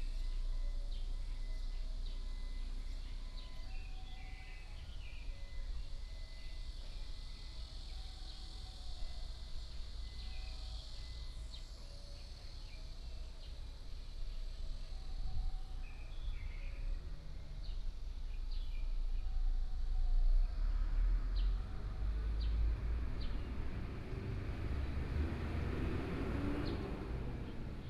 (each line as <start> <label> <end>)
20.3 Traffic Sound 27.8